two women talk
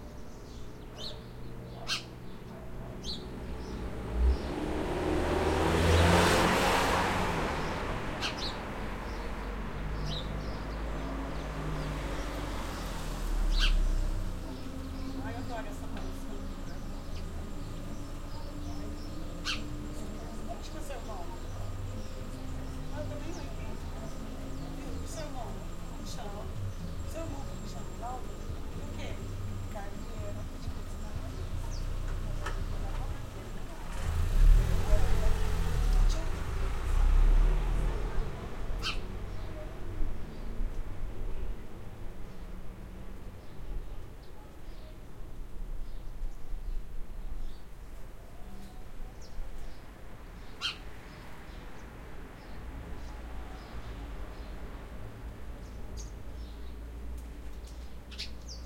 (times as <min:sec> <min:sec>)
0:13.9 0:38.8